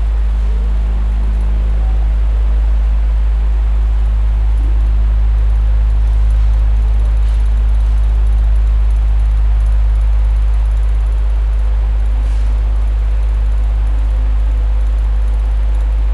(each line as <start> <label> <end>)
0.0 floor fan 16.1